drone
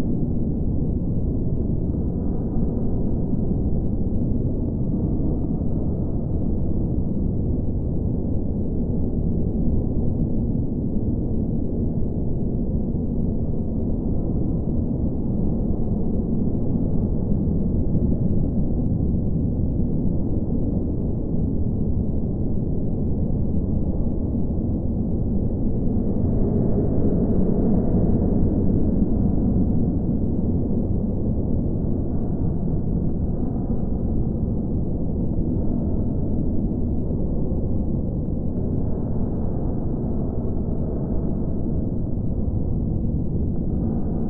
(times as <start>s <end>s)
25.5s 44.2s